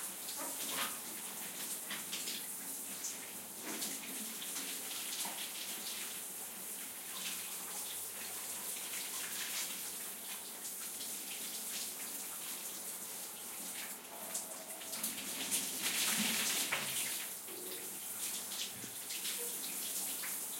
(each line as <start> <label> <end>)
0.0 shower 20.5